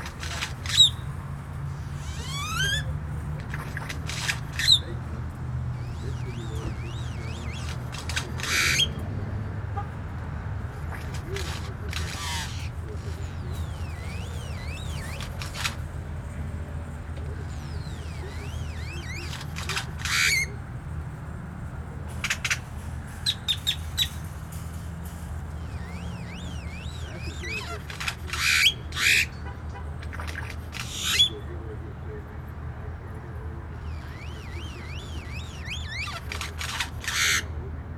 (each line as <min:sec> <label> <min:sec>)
0:00.0 Solitary male Grackle calls 0:09.2
0:00.0 store employees smoking and talking 0:37.9
0:00.0 Traffic sounds 0:37.9
0:10.6 Solitary male Grackle calls 0:15.9
0:17.2 Solitary male Grackle calls 0:20.8
0:22.1 Solitary male Grackle calls 0:32.0
0:33.6 Solitary male Grackle calls 0:37.7